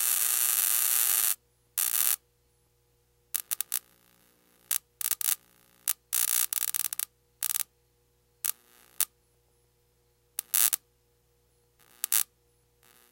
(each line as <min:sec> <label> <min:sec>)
0:03.4 bug zapper 0:03.8
0:04.7 bug zapper 0:07.7
0:10.4 bug zapper 0:10.8
0:12.0 bug zapper 0:12.3